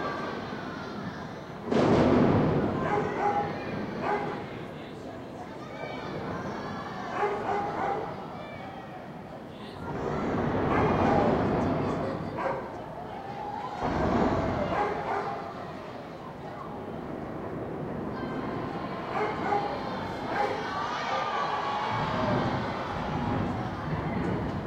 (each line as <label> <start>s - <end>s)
fireworks display 0.0s - 5.2s
crowds cheering 0.0s - 24.6s
dog barking 2.8s - 4.4s
dog barking 7.2s - 8.1s
fireworks display 9.8s - 24.6s
dog barking 12.4s - 12.7s
dog barking 14.7s - 15.4s
dog barking 19.1s - 19.7s